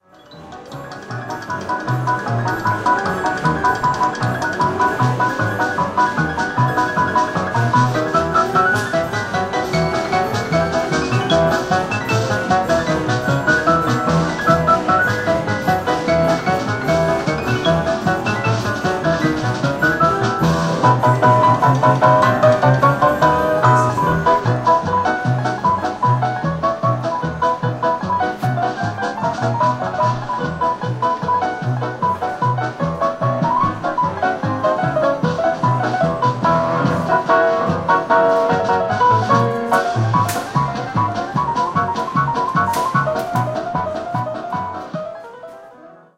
piano toy 0.0 - 46.1

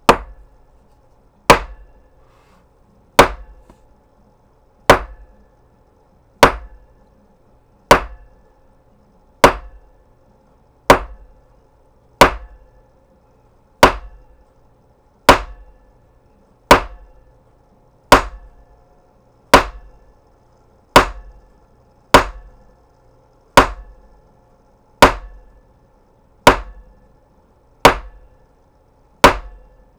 Gavel, Hits 0.0 - 0.5
Gavel, Hits 1.5 - 1.9
Gavel, Hits 3.2 - 3.8
Gavel, Hits 4.9 - 5.2
Gavel, Hits 6.4 - 6.8
Gavel, Hits 7.9 - 8.2
Gavel, Hits 9.4 - 9.8
Gavel, Hits 10.9 - 11.2
Gavel, Hits 12.2 - 12.6
Gavel, Hits 13.8 - 14.2
Gavel, Hits 15.3 - 15.6
Gavel, Hits 16.7 - 17.0
Gavel, Hits 18.1 - 18.5
Gavel, Hits 19.5 - 19.9
Gavel, Hits 21.0 - 21.3
Gavel, Hits 22.1 - 22.5
Gavel, Hits 23.6 - 23.9
Gavel, Hits 25.0 - 25.4
Gavel, Hits 26.4 - 26.8
Gavel, Hits 27.8 - 28.2
Gavel, Hits 29.2 - 29.6

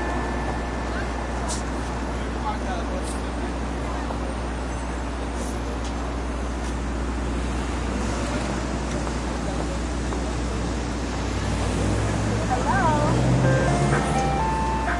Ice cream song from ice cream car 13.4 - 14.9

